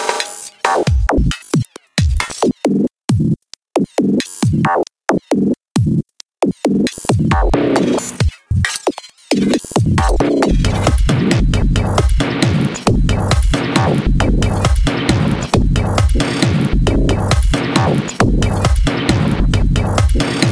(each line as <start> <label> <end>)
0.0 Glitch Drums 20.5